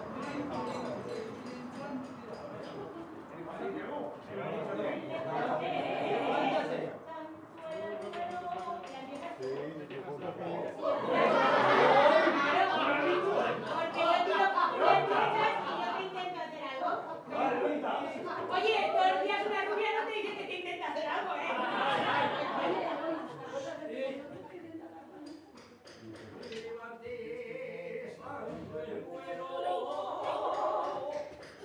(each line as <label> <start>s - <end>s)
people talking outside 0.0s - 31.6s
Jotas, regional traditional songs 24.4s - 31.6s